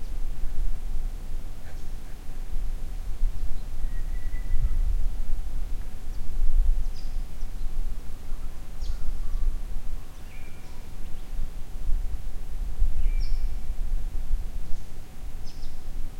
0.0s insects 16.1s
3.5s birds 4.9s
6.0s birds 11.4s
13.0s birds 13.7s
14.6s birds 15.9s

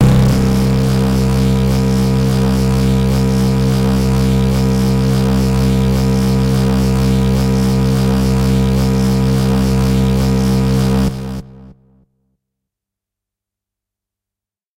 0.0s hard, harsh lead sound 3.8s

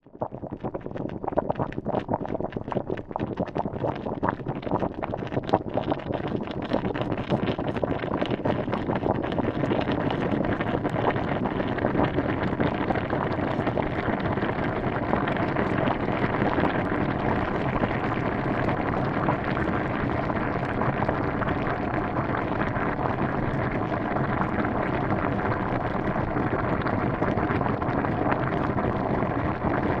0.0s boiling 30.0s

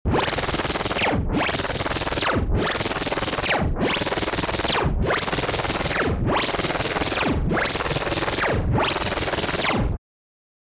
0.1s Laser 10.0s

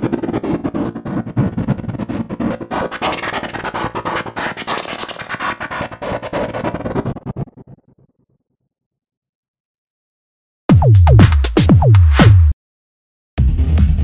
10.7s Bass 12.6s
10.7s Electric Drums 12.6s
13.4s Bass 14.0s

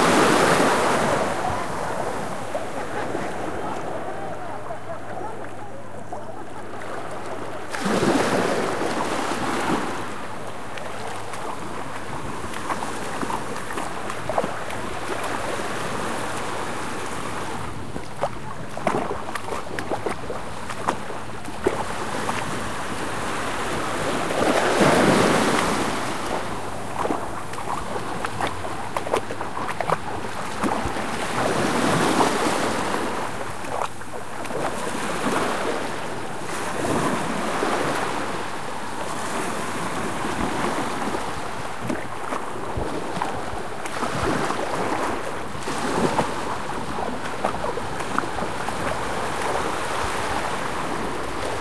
0.0s sea 51.6s
1.2s people can be heard talking and laughing 7.6s

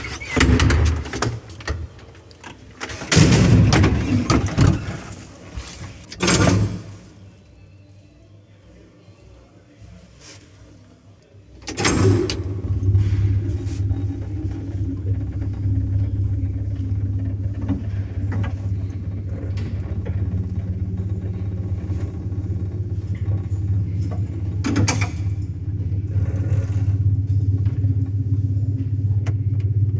0.0s closing doors 7.2s
0.0s Old soviet elevator that still works 7.2s
11.6s Old soviet elevator that still works 29.9s
11.6s closing doors 29.9s

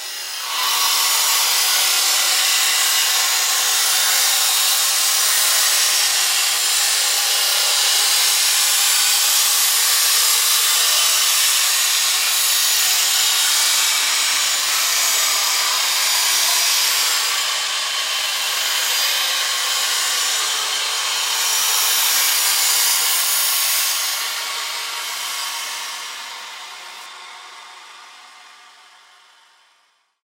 0.0s synthetic power saw2016 30.2s

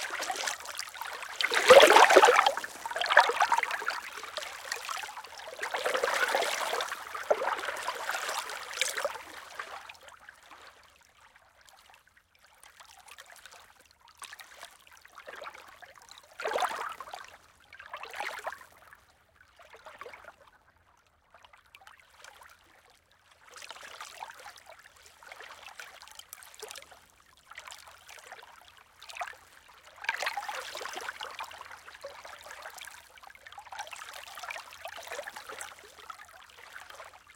0.0s Lake Waves 10.8s

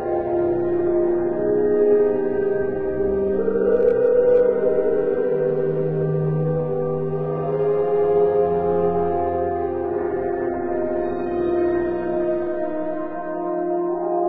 0.0s singers 14.2s

